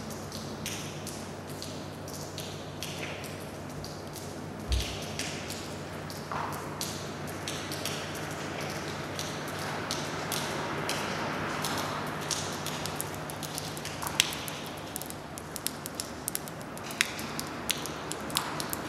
0.3s Water drops 18.8s

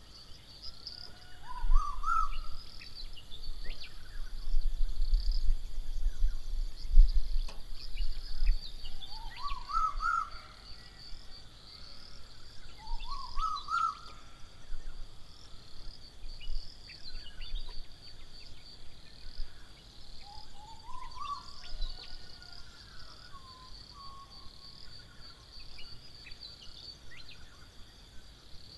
0.0s birds 28.1s

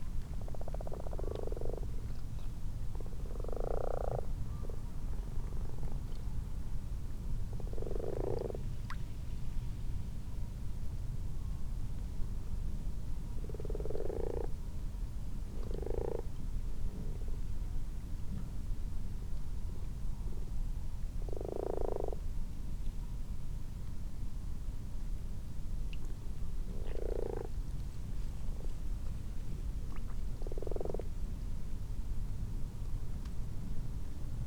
0.2s common frogs 6.2s
0.3s common toads 4.8s
7.4s common frogs 9.0s
7.5s common toads 9.0s
13.4s common frogs 14.7s
13.4s common toads 14.6s
15.5s common frogs 17.4s
15.5s common toads 16.4s
21.2s common frogs 22.3s
21.2s common toads 22.2s
25.9s common frogs 27.8s
26.6s common toads 27.7s
28.5s common frogs 31.3s
29.8s common toads 31.2s

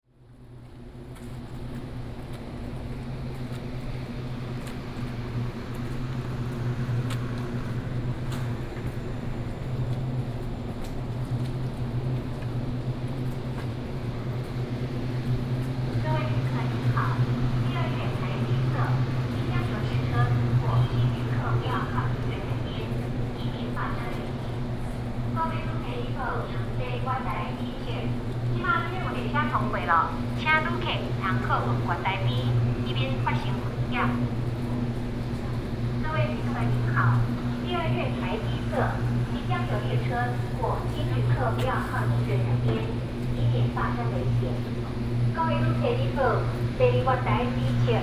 0.0s Walking in the train station platform 48.0s
14.5s Station Message Broadcast 48.0s

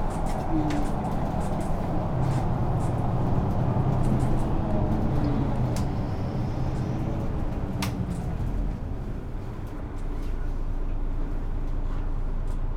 0.0s Bus ride 12.7s

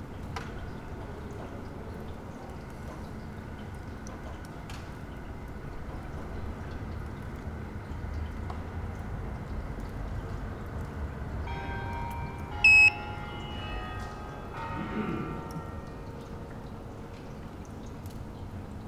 12.6s Devices with unclear funtion seem to communicate 12.9s

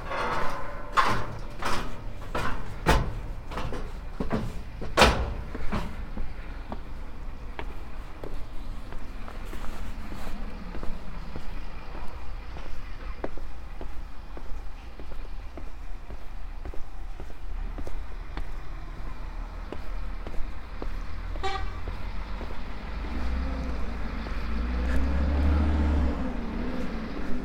0.0s stepping down the first metal construction 6.9s
0.0s two bus that enter the downhill tourist parking place 27.4s

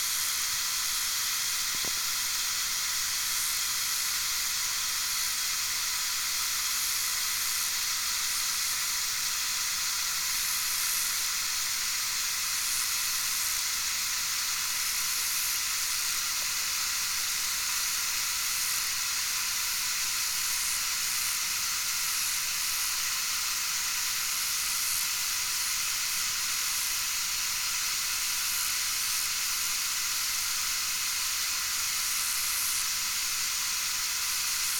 0.0s fountains that spray water into the river 34.7s

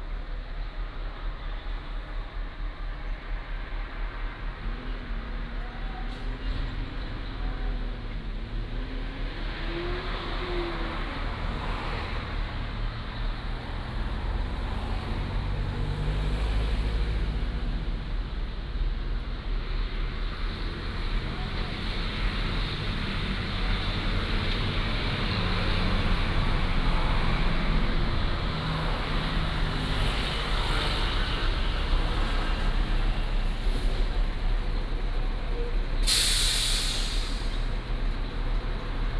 0.0s Traffic Sound 39.1s

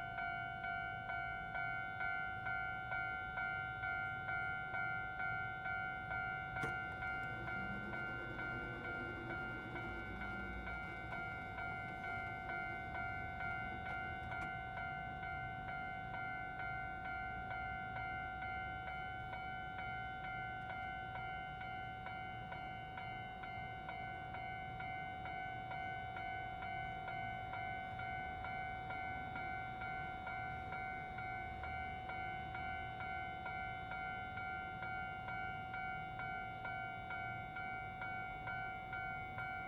0.0s Railroad Crossing 39.6s
0.0s The train runs through 39.6s
3.9s Traffic sound 27.1s

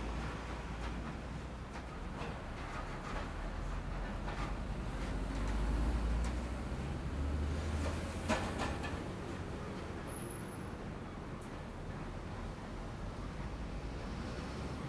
0.0s The train runs through 14.8s
0.0s Traffic sound 14.8s

